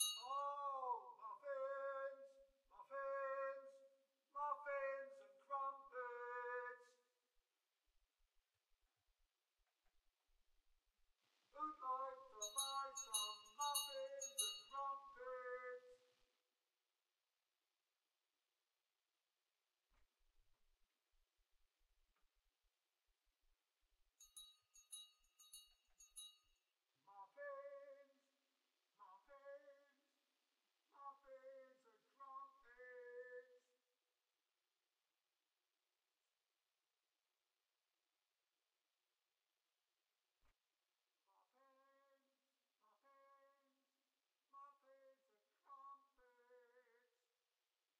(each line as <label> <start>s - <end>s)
street muffin vendor with bell 0.0s - 0.5s
street muffin vendor with bell 12.4s - 15.1s
street muffin vendor with bell 24.2s - 26.6s